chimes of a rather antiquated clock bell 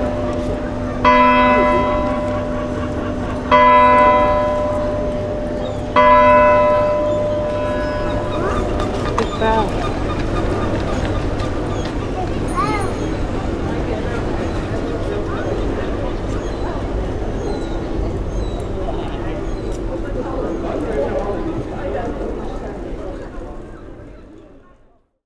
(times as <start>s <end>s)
0.0s 9.1s, 12.4s 13.3s